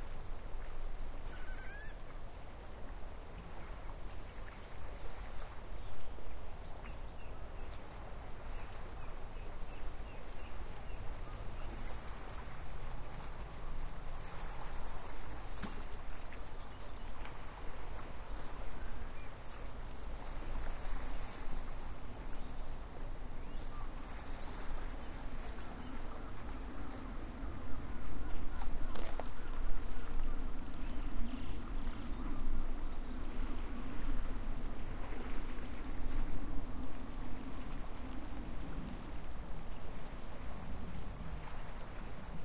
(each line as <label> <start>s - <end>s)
Water gently lapping against the sea shore 0.0s - 42.4s
song thrush 1.2s - 2.0s
Curlew 1.2s - 2.0s